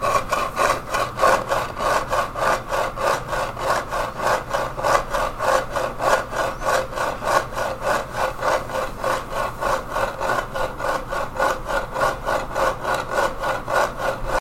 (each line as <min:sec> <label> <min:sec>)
0:00.0 scratching the chipped graphic on a longboard deck 0:14.4